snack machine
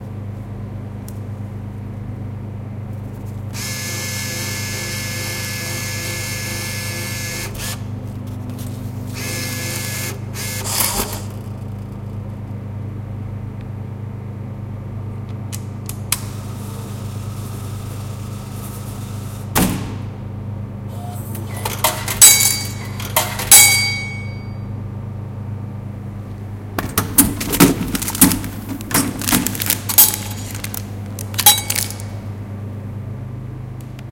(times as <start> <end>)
9.1 11.9, 20.9 24.1, 26.8 32.2